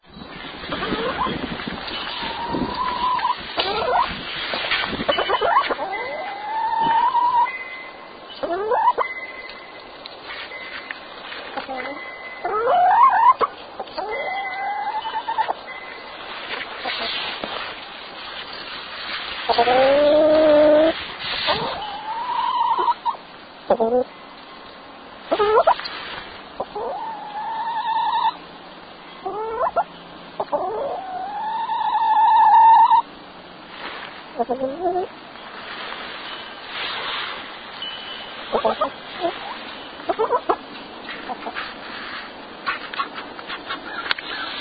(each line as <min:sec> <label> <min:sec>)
0:01.3 wind chimes 0:03.4
0:02.2 chicken vocalizing 0:04.1
0:05.0 wind chimes 0:06.4
0:05.1 chicken vocalizing 0:07.5
0:07.4 wind chimes 0:12.8
0:08.4 chicken vocalizing 0:09.0
0:11.6 chicken vocalizing 0:15.6
0:13.8 wind chimes 0:16.6
0:19.5 chicken vocalizing 0:24.1
0:25.3 chicken vocalizing 0:25.8
0:26.6 chicken vocalizing 0:28.4
0:29.2 chicken vocalizing 0:33.1
0:34.4 chicken vocalizing 0:35.1
0:36.0 wind chimes 0:36.9
0:37.6 wind chimes 0:40.1
0:38.5 chicken vocalizing 0:40.6
0:41.2 chicken vocalizing 0:41.8